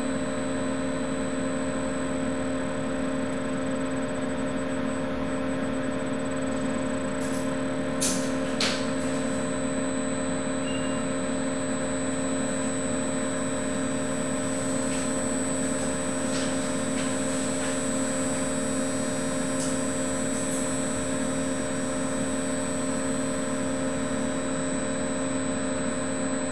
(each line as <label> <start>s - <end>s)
hum of its cooling fan 0.0s - 26.5s
oscillating high-pitched sound of a electric generator 0.0s - 26.5s